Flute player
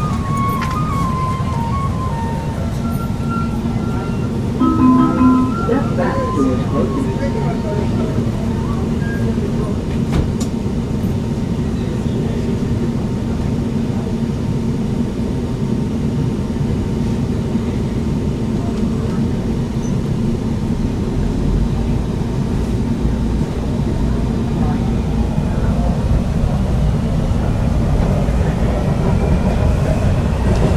0:00.0 0:09.6

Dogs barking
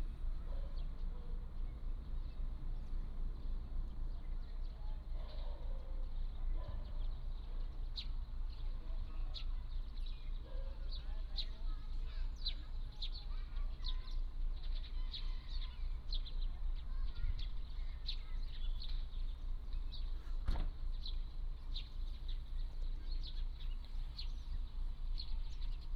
0:00.4 0:01.4, 0:05.1 0:07.0, 0:10.4 0:11.0

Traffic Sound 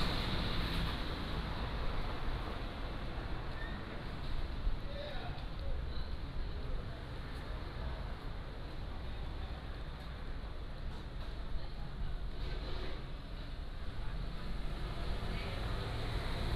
0:00.0 0:08.0, 0:14.4 0:16.5

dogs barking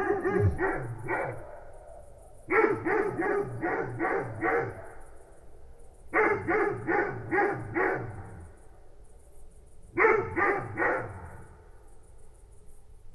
0:00.0 0:01.8, 0:02.5 0:05.1, 0:06.2 0:08.5, 0:09.9 0:11.5

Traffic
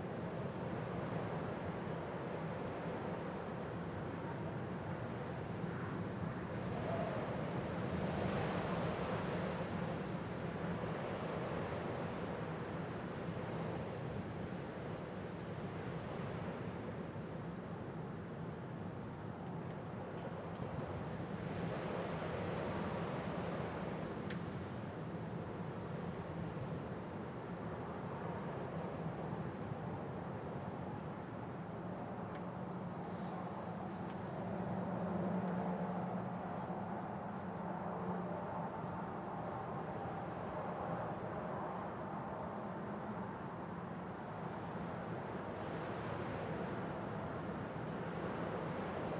0:32.5 0:39.6

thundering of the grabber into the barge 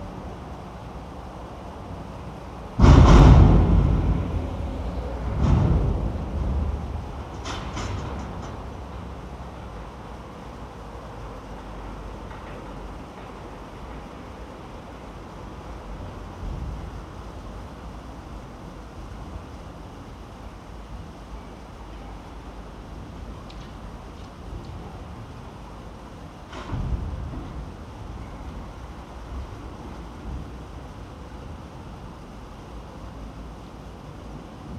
0:02.8 0:08.6, 0:26.5 0:28.4

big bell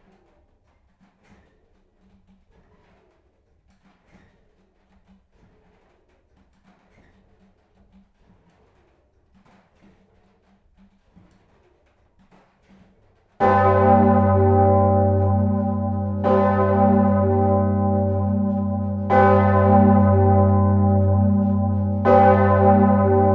0:13.4 0:23.3

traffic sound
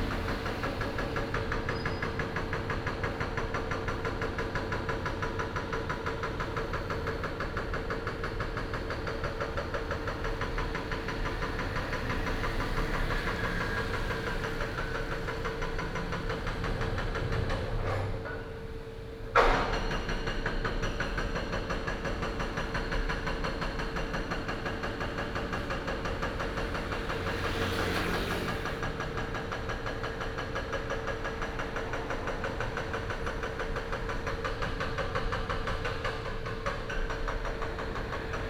0:00.0 0:06.0, 0:09.6 0:18.9, 0:24.8 0:38.4

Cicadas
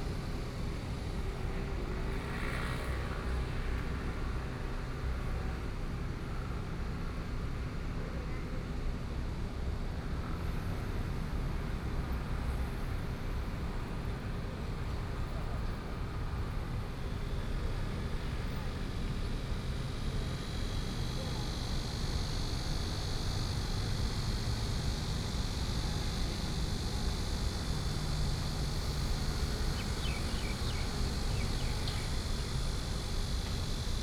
0:11.6 0:34.0

